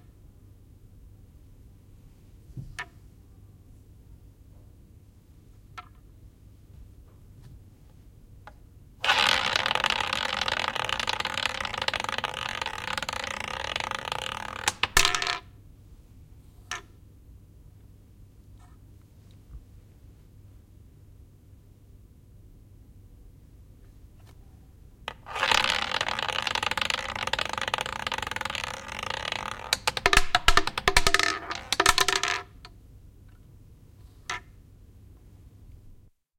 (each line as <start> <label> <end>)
2.4 Roulette, a few rolls 3.1
5.5 Roulette, a few rolls 15.6
16.5 Roulette, a few rolls 17.0
23.7 Roulette, a few rolls 36.1